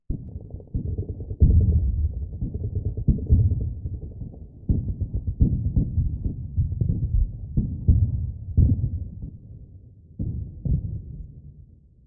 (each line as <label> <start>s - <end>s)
Artillery (distance) 0.1s - 11.9s